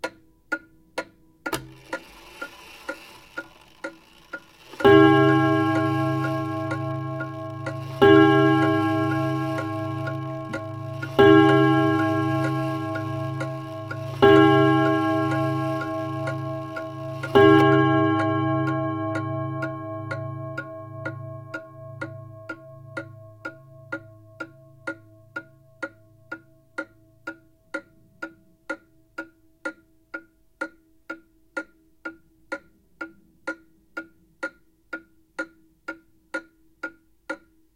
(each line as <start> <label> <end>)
1.5 clock chiming (or striking) 25.5